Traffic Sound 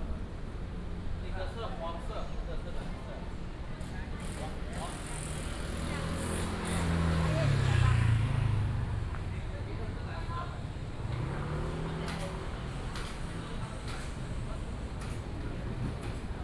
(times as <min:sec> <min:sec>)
0:04.8 0:16.4